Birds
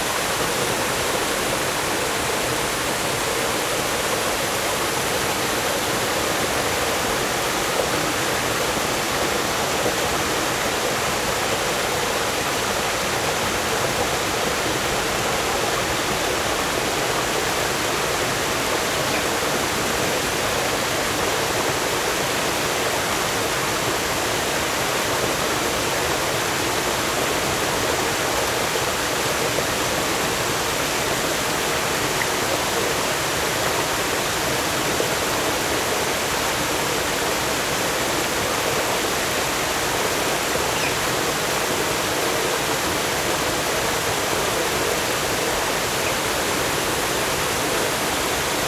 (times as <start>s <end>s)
17.4s 20.8s, 40.5s 42.6s